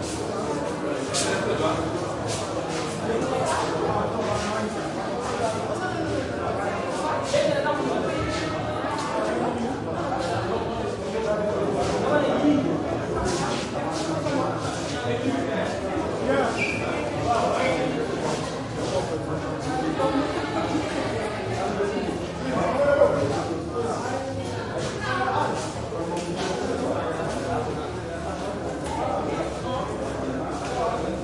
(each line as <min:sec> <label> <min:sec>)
0:00.0 crowd int medium school busy activity 0:31.2